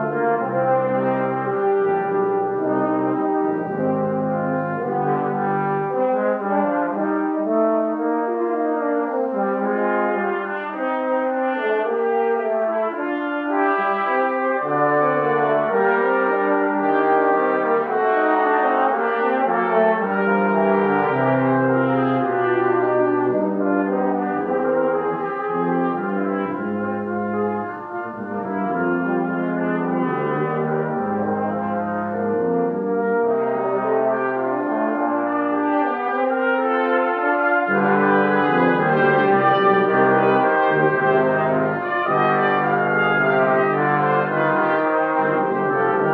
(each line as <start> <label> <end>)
0.0 classic concert 46.1